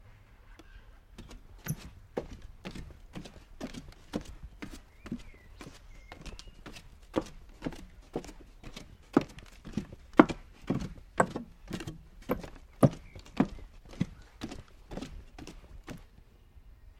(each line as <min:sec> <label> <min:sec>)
0:00.5 Footsteps outdoors wood path squeak 0:16.2